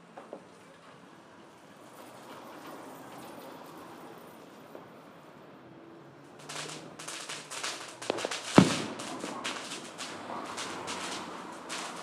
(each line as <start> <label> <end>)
6.2 FIREWORKS 12.0